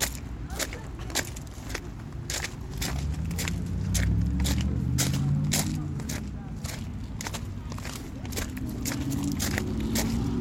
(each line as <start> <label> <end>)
0.0 Footsteps on a rocky surface 10.4
1.6 car engine 10.4